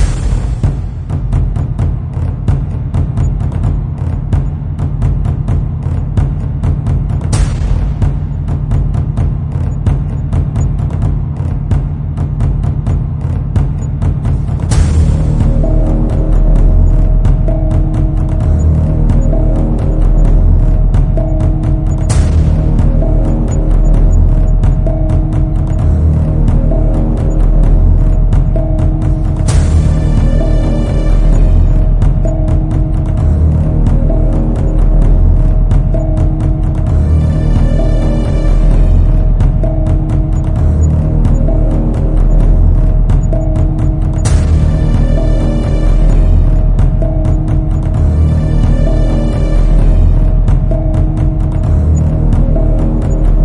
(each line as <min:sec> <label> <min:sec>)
0:00.0 drums 0:53.4